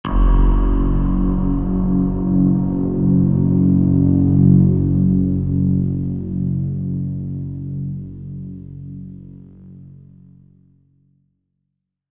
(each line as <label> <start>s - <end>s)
Horror Sting 0.1s - 9.1s